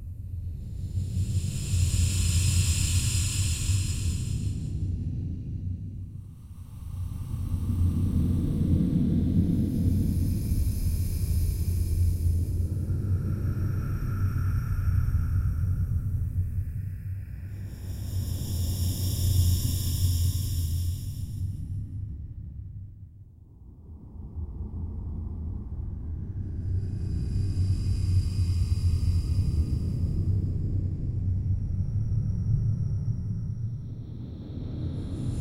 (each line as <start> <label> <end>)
0.9 white noise 4.8